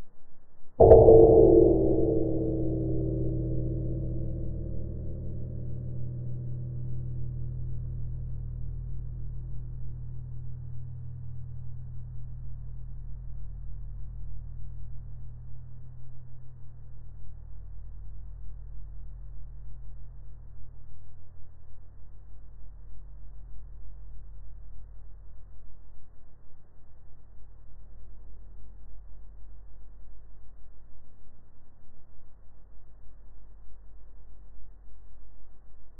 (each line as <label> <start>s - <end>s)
simple metal kitchen bowl, hit with a wooden spoon 0.8s - 7.4s